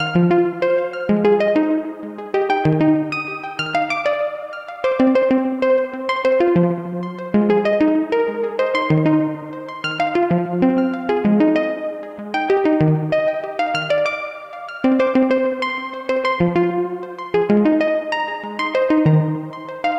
Arpeggio 0.0 - 19.9

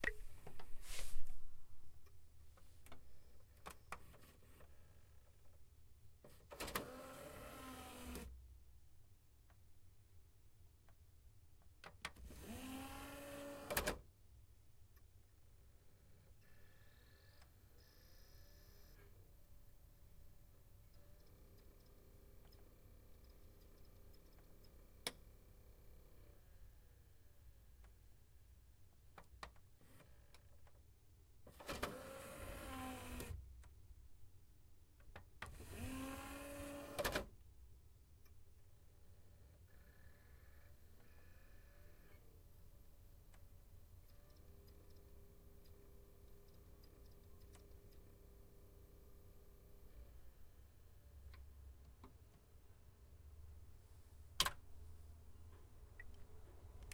Opening a dvd reproductor and closing it 36.8 - 37.3

